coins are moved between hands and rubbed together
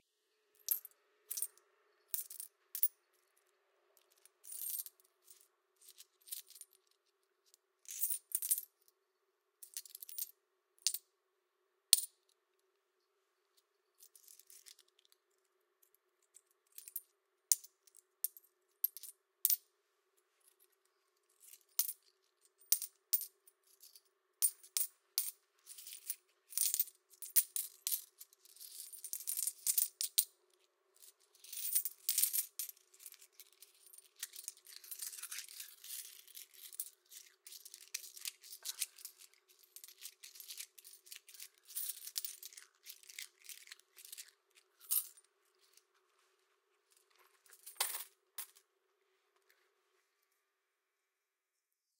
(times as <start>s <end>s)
4.4s 7.2s, 25.6s 30.1s, 31.1s 48.6s